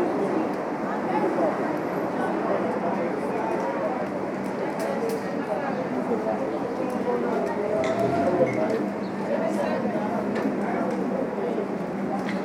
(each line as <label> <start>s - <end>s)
discussions over lunch 3.2s - 12.4s